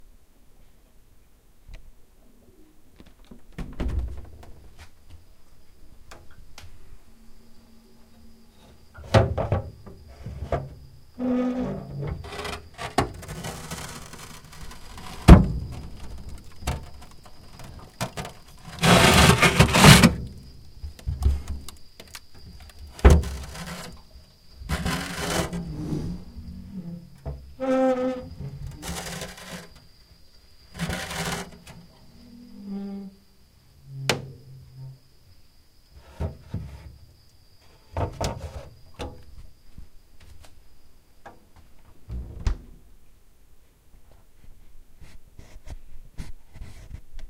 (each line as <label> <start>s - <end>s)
creaking from freezer door 9.0s - 29.8s
creaking from freezer door 30.7s - 33.2s
creaking from freezer door 33.8s - 35.0s
creaking from freezer door 42.1s - 42.8s